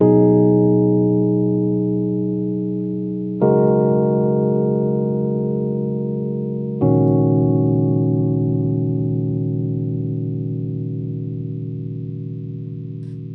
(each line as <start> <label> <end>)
0.0 Three chords played on my Rhodes 13.3